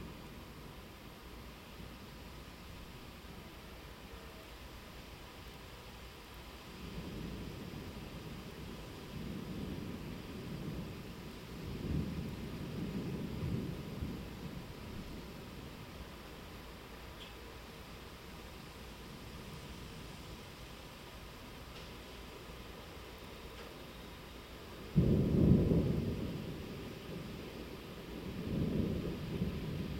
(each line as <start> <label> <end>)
0.0 rain 29.9
6.9 thunder 15.3
24.9 thunder 29.9